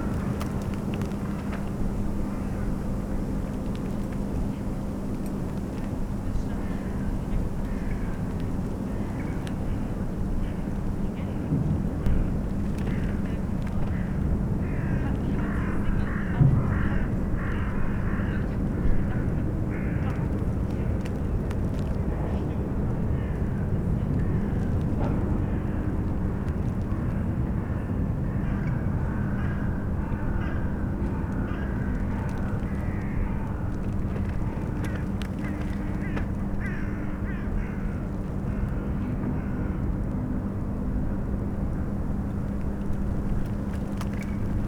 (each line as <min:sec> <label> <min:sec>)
0:12.9 crows 0:20.2
0:26.9 crows 0:39.8
0:30.8 a tree rustling in the wind 0:44.6
0:31.3 cracking ice of the frozen spree river 0:37.7
0:42.6 cracking ice of the frozen spree river 0:44.6